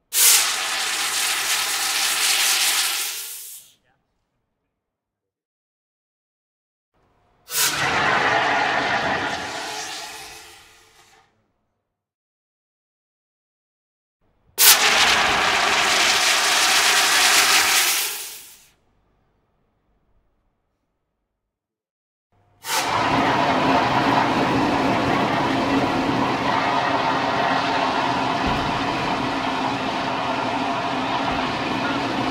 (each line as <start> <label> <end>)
0.1 water gurgle from air release compressor dive tank 3.6
7.5 water gurgle from air release compressor dive tank 11.2
14.6 water gurgle from air release compressor dive tank 18.6
22.6 water gurgle from air release compressor dive tank 32.3